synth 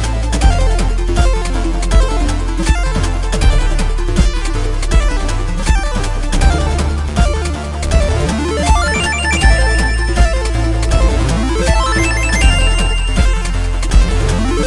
8.1 14.6

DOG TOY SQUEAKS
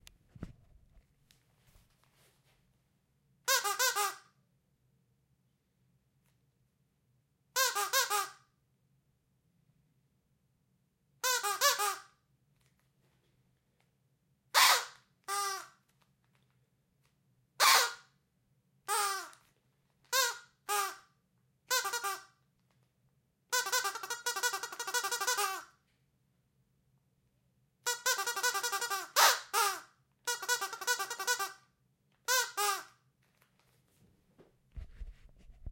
3.5 4.2, 7.6 8.4, 11.2 12.1, 14.6 15.7, 17.6 18.1, 18.9 19.4, 20.1 21.0, 21.7 22.3, 23.5 25.7, 27.8 31.6, 32.3 32.9

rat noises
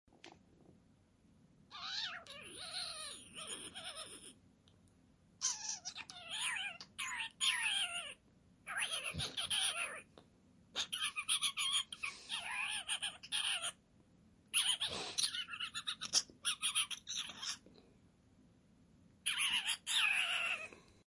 1.7 4.4, 5.4 10.2, 10.8 13.8, 14.5 17.9, 19.2 21.0

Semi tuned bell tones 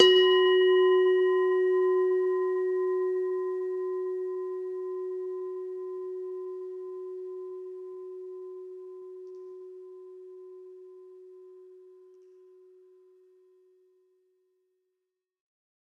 0.0 11.8

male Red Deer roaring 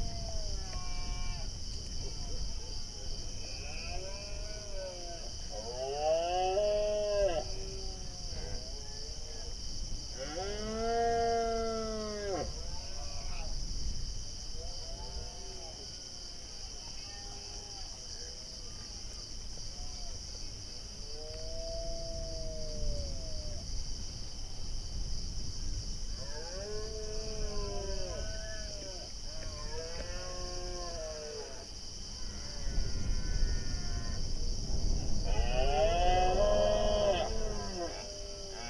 35.2 38.6

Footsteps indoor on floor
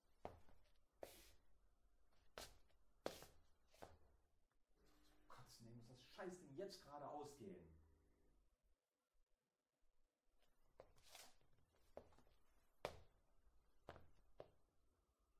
0.0 1.5, 2.1 4.2, 10.4 14.7

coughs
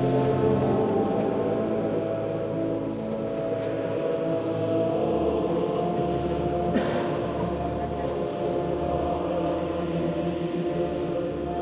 6.6 7.9

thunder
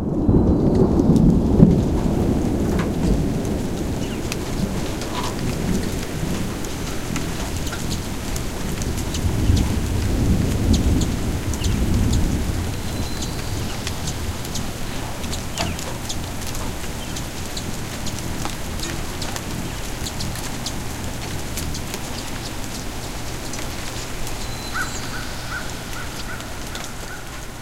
0.0 19.1

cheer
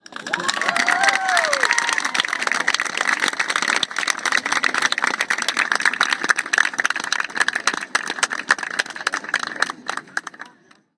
0.2 3.3

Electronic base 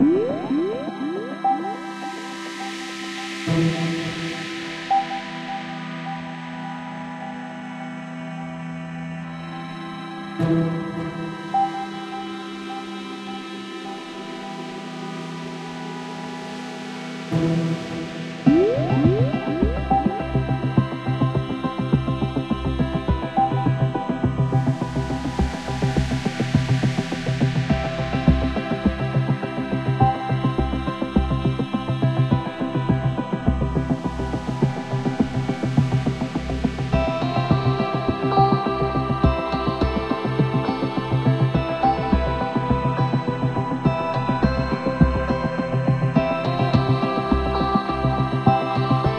0.0 4.3, 18.2 49.1

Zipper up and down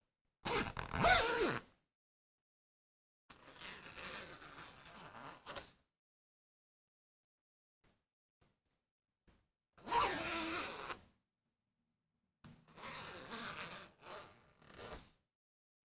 0.4 1.8, 3.3 5.8, 9.8 11.1, 12.6 15.3

